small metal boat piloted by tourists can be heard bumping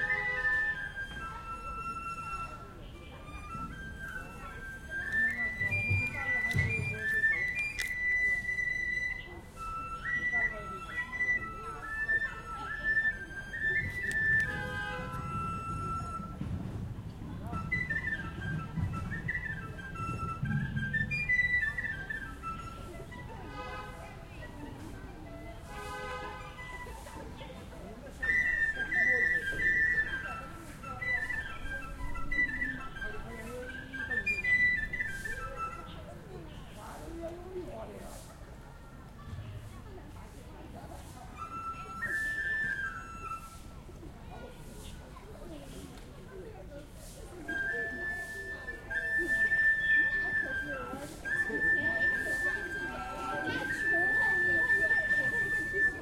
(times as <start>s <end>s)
0.0s 38.4s